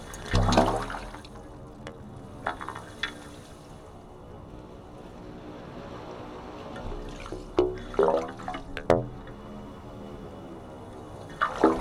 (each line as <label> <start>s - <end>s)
metal pipes in the sea 0.0s - 11.8s